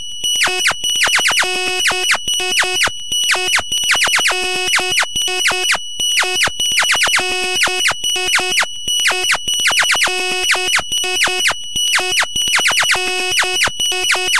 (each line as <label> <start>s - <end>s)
laser 12.5s - 14.3s
glitch 14.1s - 14.3s